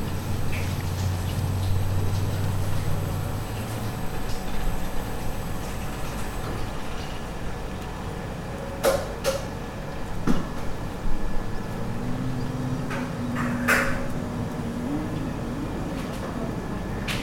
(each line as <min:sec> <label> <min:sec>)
0:00.0 Street sounds 0:17.2